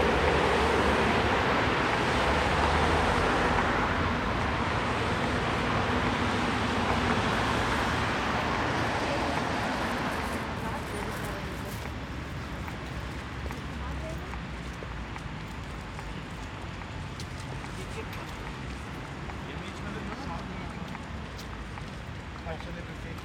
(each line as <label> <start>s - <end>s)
heavy traffic 0.0s - 23.2s
passers-by 0.0s - 23.2s